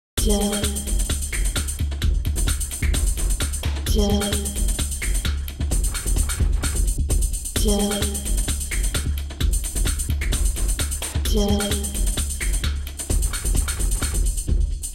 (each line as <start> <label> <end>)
0.2 electro synth loop 14.9